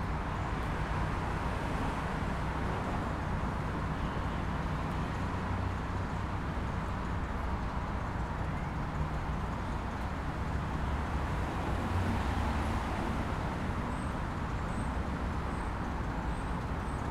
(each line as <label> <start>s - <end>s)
local traffic 0.0s - 17.1s